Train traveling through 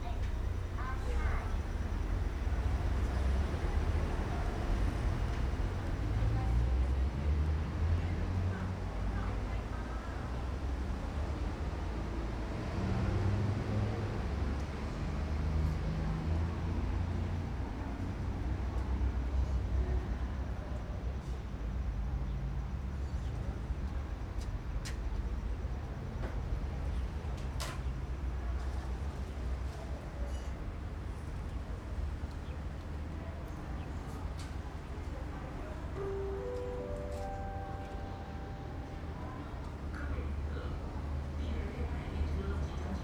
0.0 7.4, 35.2 43.0

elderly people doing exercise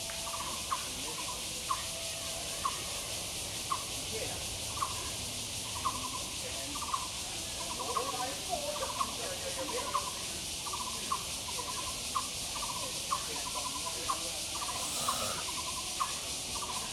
14.7 15.4

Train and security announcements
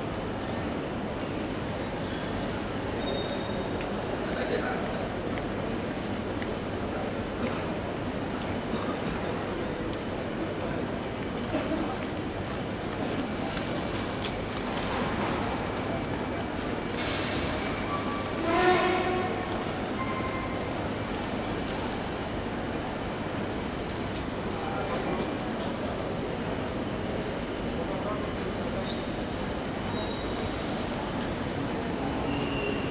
14.9 32.9

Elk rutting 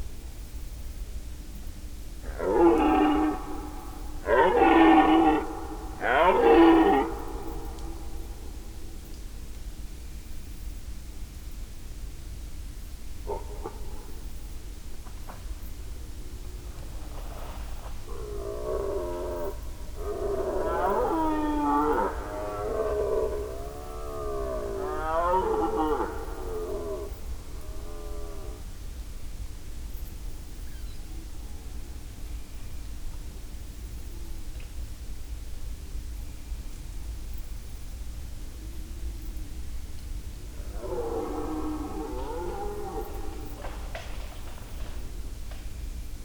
2.3 8.6, 16.7 28.6, 40.4 45.1

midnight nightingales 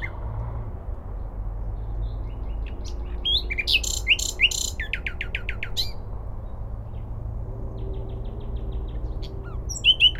2.0 7.1, 7.8 10.1

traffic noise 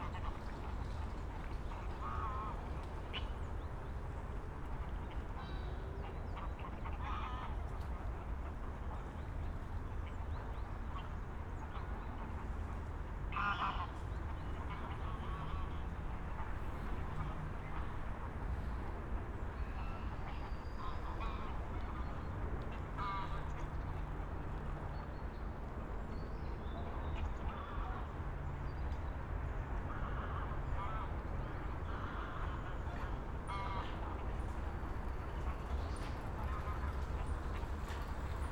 27.8 38.5

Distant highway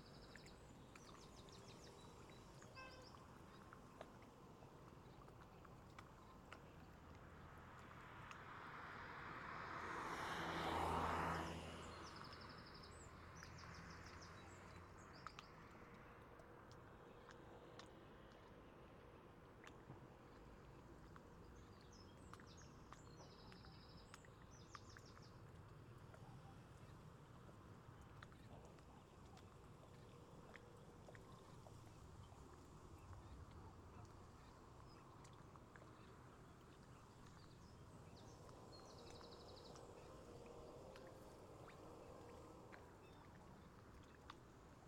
6.8 16.2, 26.0 44.8

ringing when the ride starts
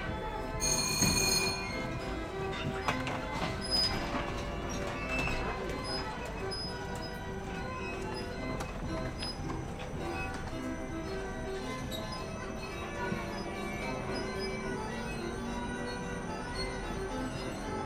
0.6 4.0

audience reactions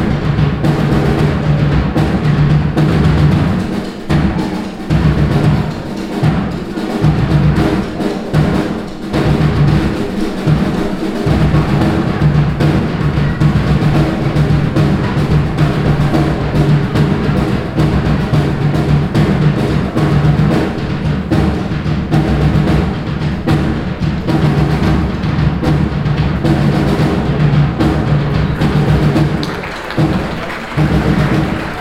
27.3 31.8

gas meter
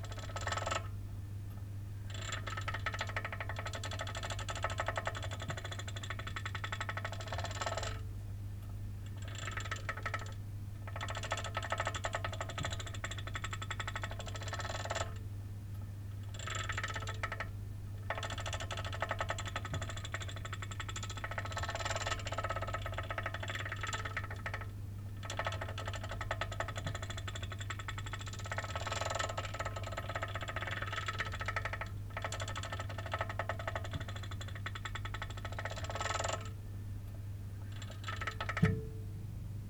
38.3 39.5

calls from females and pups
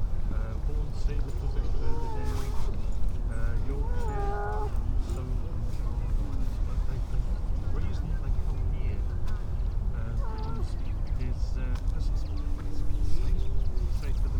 1.4 5.2, 10.1 10.8

